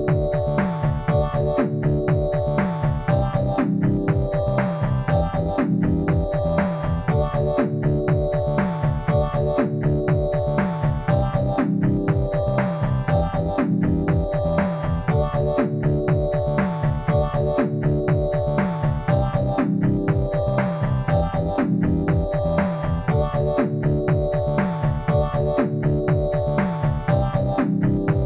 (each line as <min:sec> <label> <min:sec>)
0:00.0 bass 0:28.2
0:00.0 drum 0:28.2
0:00.0 synth 0:28.2